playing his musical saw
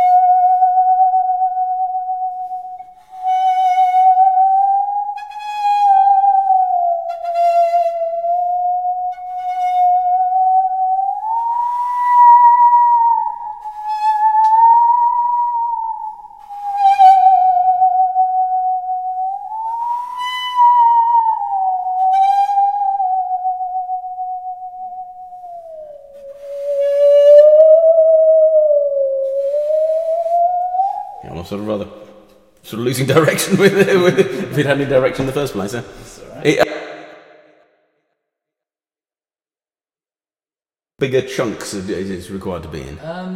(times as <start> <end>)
0.0 32.1